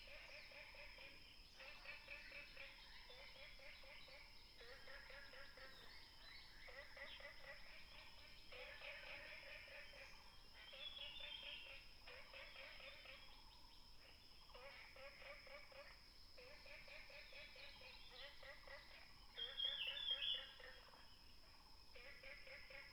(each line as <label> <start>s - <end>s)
Frogs chirping 17.0s - 22.9s
Birds singing 19.4s - 20.6s